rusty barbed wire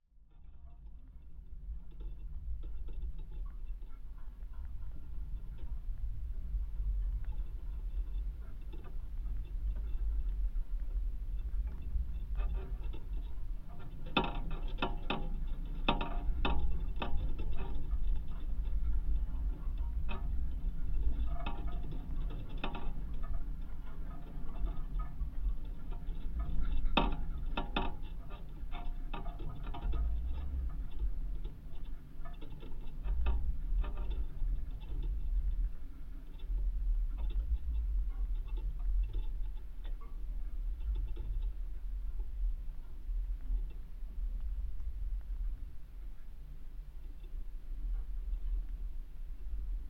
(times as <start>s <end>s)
11.3s 44.3s